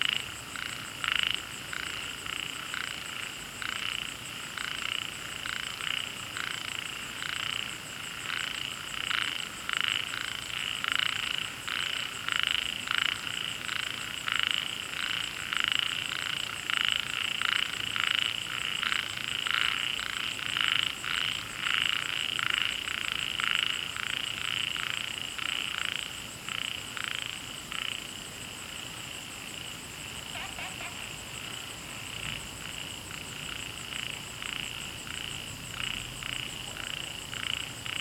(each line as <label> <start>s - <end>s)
Frogs chirping 0.0s - 38.0s